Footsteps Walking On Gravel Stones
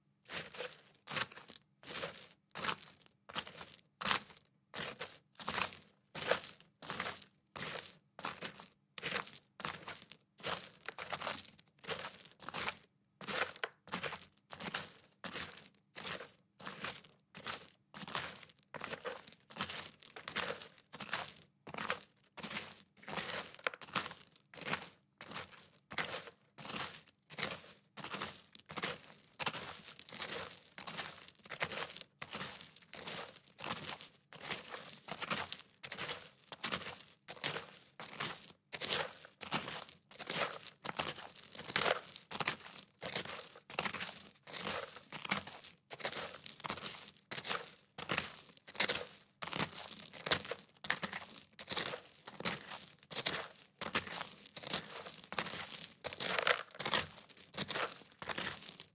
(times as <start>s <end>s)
25.2s 58.9s